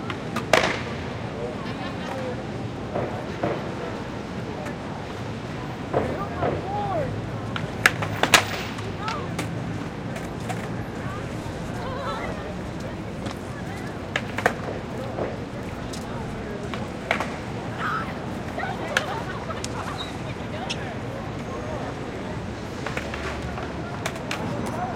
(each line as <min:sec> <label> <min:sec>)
0:00.0 clack and roll of skate boards 0:24.9
0:00.0 traffic 0:24.9
0:08.9 gritty near by footsteps 0:20.0
0:10.7 voices and energy of teens 0:22.6